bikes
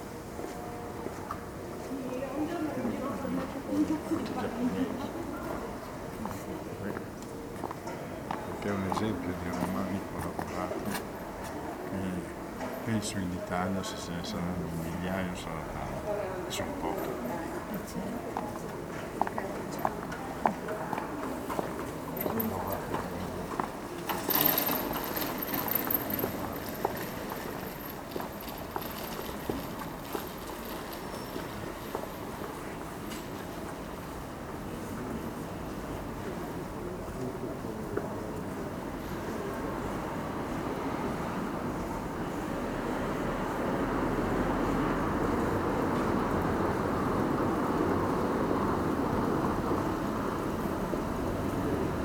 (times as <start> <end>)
21.2 36.4